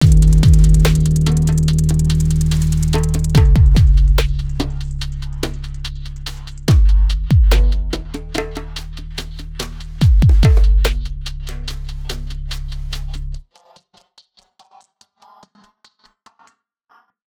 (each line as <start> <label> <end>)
0.0 hand drums 11.6
0.0 subby bass 13.4